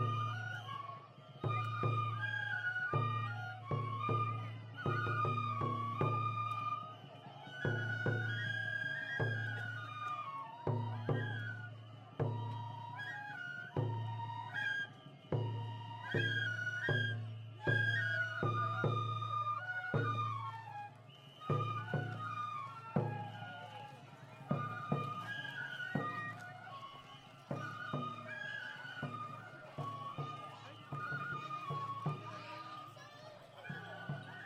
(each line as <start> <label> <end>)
0.0 School Children Playing Bamboo Flutes 34.4